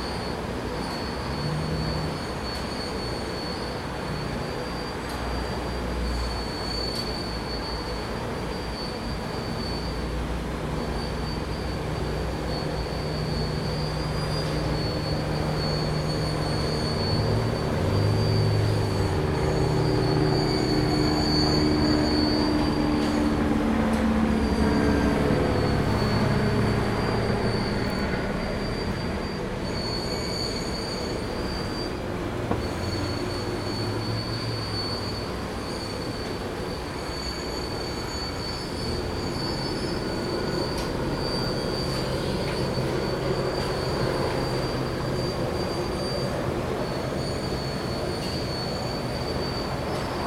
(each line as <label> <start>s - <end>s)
car wash 0.0s - 50.2s
distant traffic 0.0s - 50.2s
helicopter 6.4s - 31.8s